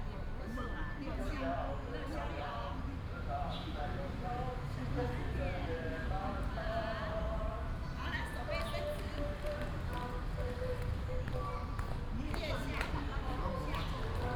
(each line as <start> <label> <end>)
8.9 Group of elderly people doing aerobics 14.3